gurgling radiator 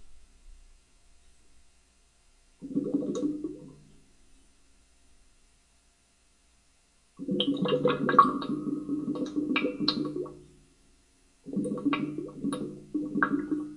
2.6 4.0, 7.2 10.6, 11.4 13.7

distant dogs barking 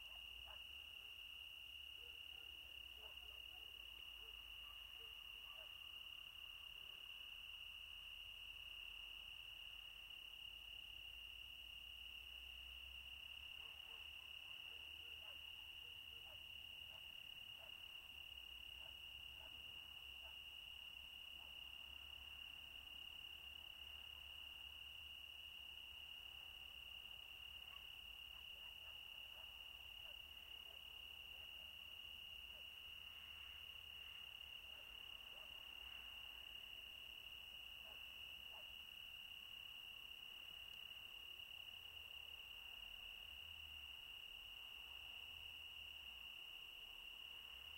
0.0 0.9, 13.5 18.0, 18.8 20.5, 27.4 31.8, 34.6 36.3, 37.7 38.9

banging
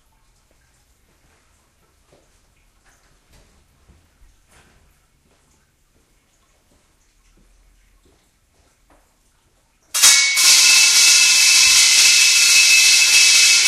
10.0 13.6

